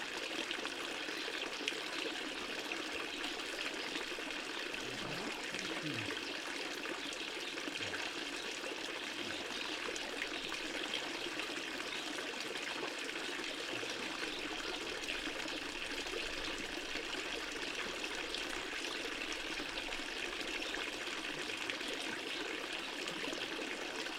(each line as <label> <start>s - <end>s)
Stream from ta public fountain 0.0s - 24.1s
birds 3.2s - 12.3s